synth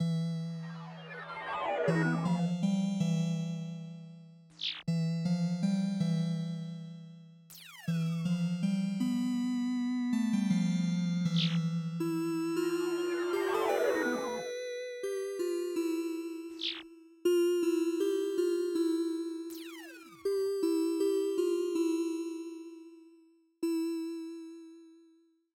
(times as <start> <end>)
0.4 2.7, 12.7 14.5